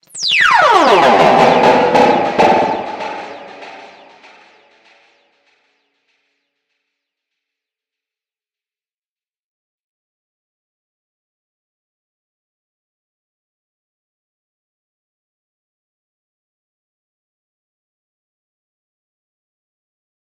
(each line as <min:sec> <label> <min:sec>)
0:00.1 powerdown 0:04.4